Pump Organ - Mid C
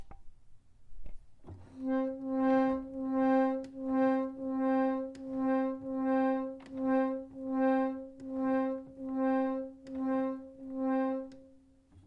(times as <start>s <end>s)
1.9s 11.4s